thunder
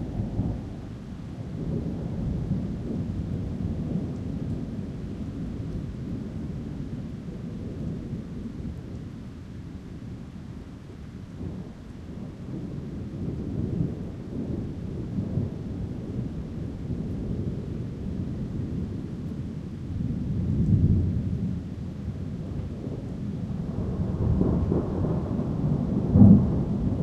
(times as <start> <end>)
11.4 27.0